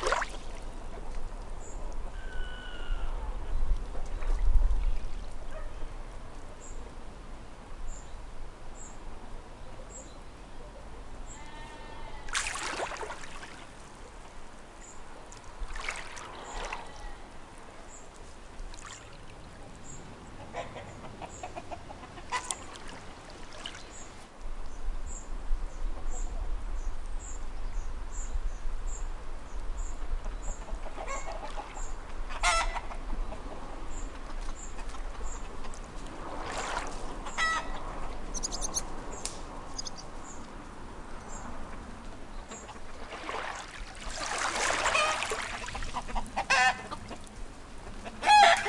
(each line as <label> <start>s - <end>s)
chickens 20.4s - 22.6s
chickens 30.2s - 31.7s
chickens 32.3s - 33.8s
birds 36.6s - 40.6s
chickens 44.9s - 47.2s
chickens 47.8s - 48.6s